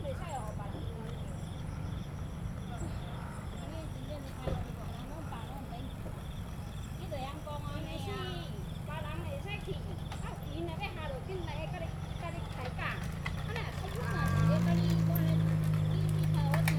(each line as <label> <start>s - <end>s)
Traffic Sound 0.0s - 16.7s
Insect sounds 0.0s - 16.7s
Bicycle sound 6.4s - 16.7s